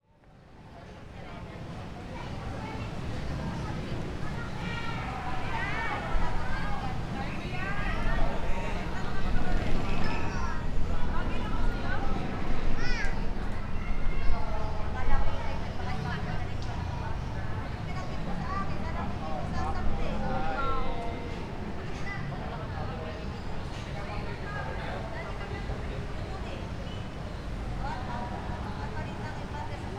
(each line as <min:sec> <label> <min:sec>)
0:00.1 quite heavy traffic 0:29.9
0:00.2 distant street loudspeakers 0:29.9
0:00.3 students chatting and playing 0:29.9